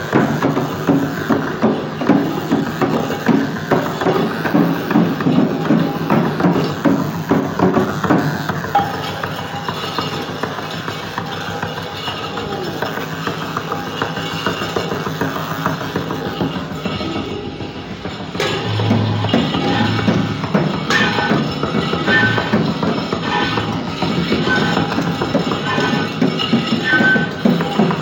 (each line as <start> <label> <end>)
16.8 noise perfomance 26.0